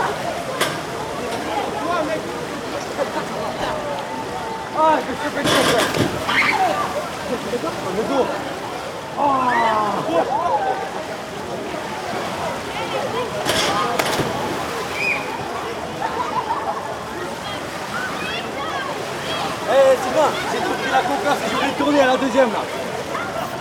people swimming 0:00.0 - 0:23.6
water sounds 0:00.0 - 0:23.6
splash 0:05.3 - 0:07.3
splash 0:11.8 - 0:16.1

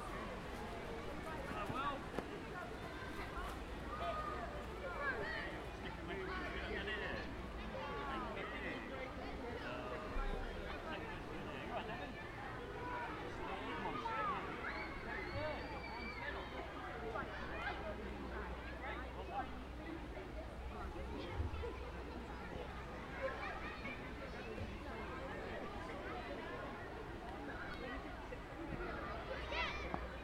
Sports Day Races 0:00.0 - 0:30.2

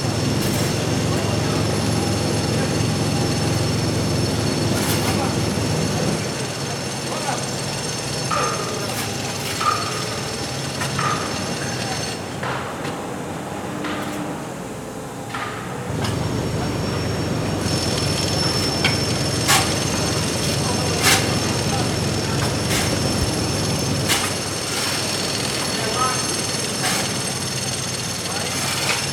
voices of workers 0:00.0 - 0:29.1

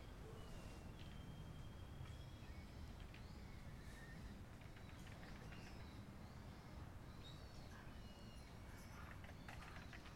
Japanese squirrels 0:07.2 - 0:10.1

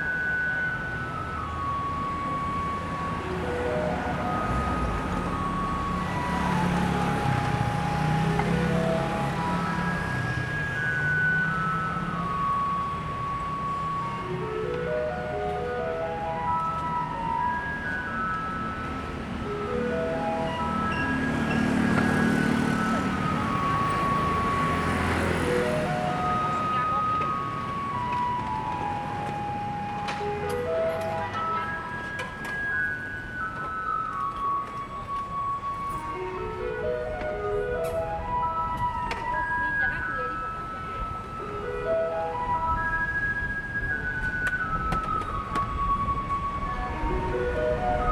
Garbage truck coming 0:00.0 - 0:48.1

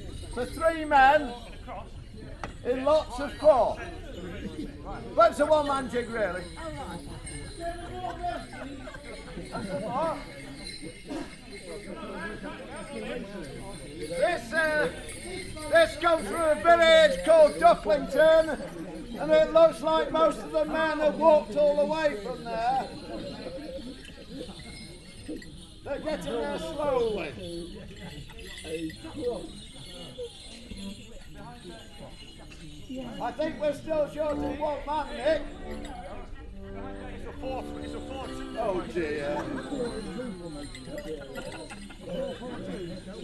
Morris Men performing a one man jig 0:33.4 - 0:41.2

